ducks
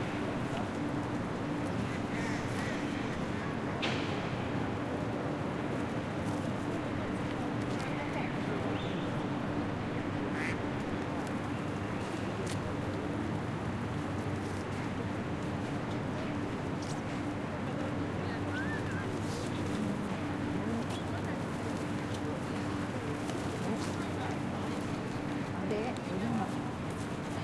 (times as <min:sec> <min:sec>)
0:01.8 0:03.2, 0:10.3 0:10.6